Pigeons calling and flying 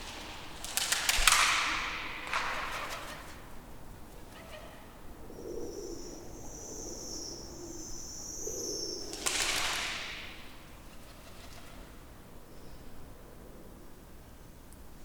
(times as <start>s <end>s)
0.0s 3.4s